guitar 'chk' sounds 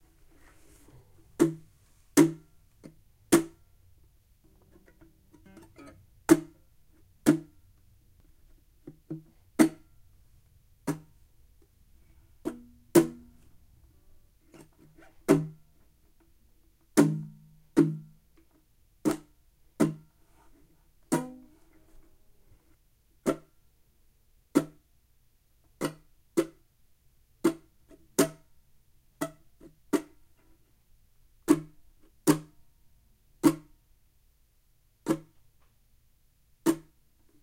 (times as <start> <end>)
4.5 6.5